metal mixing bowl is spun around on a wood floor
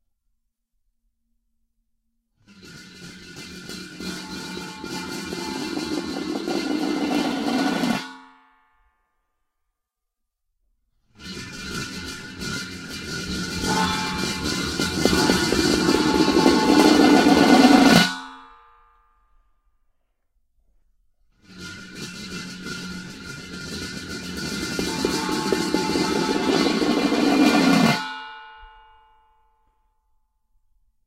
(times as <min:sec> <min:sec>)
0:02.5 0:08.0, 0:11.1 0:18.2, 0:21.4 0:28.2